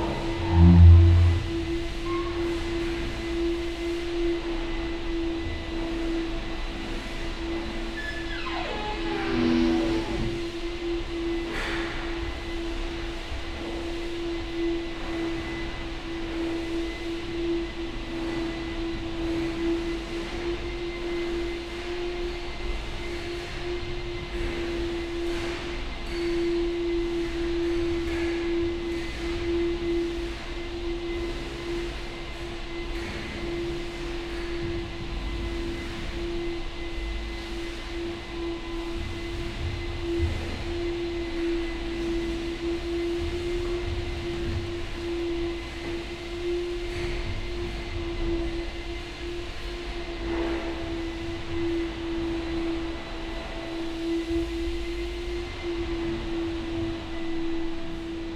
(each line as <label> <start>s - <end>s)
vacuum cleaner 0.0s - 58.3s